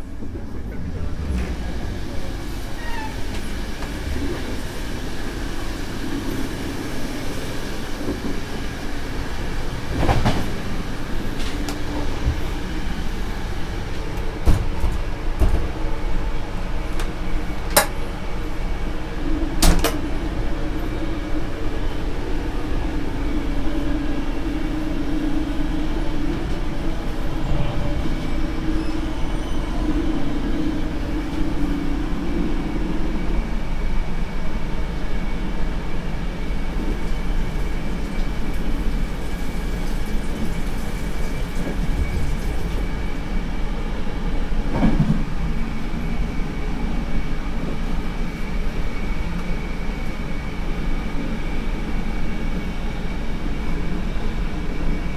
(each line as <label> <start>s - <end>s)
Arrival in train 0.0s - 55.1s